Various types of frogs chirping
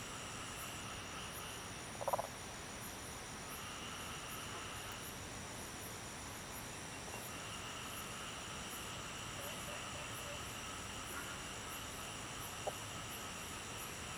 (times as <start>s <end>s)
0.1s 2.4s, 6.4s 14.1s